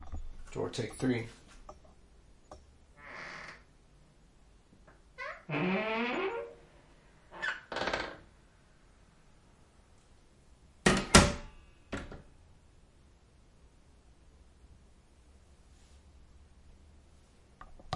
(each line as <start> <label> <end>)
3.0 Door Creak 3.7
4.9 Door Creak 8.3